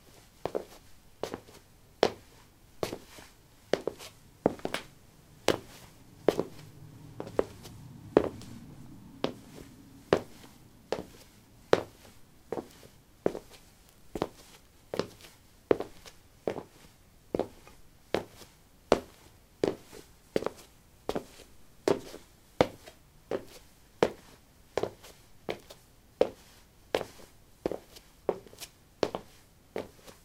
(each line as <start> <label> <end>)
0.5 sneakers walk 8.6
9.2 sneakers walk 18.4